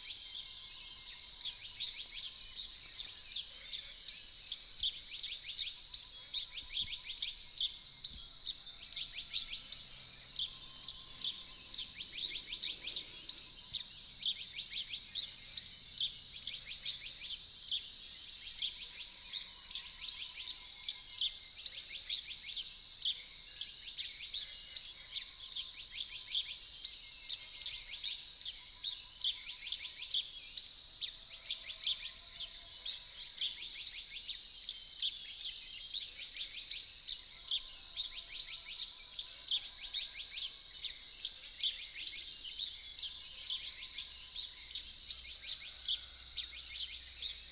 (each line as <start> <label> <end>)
0.1 Frogs chirping 21.1
4.1 Birdsong 18.9
36.0 Frogs chirping 47.5